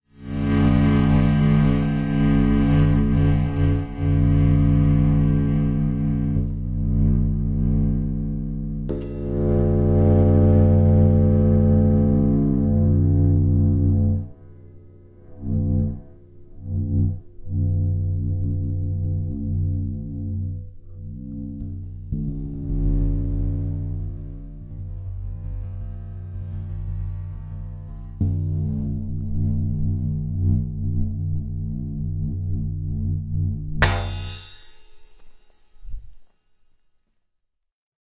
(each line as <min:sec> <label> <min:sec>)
0:00.0 sustain sound of a cymbal 0:36.8